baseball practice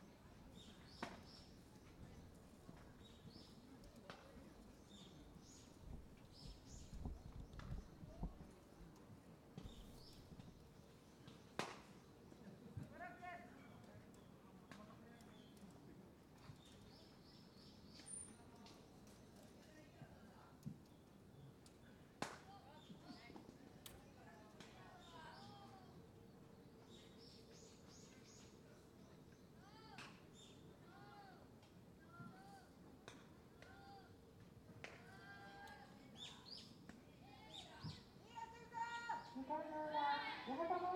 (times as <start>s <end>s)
11.3s 13.1s, 22.2s 23.9s, 31.6s 35.3s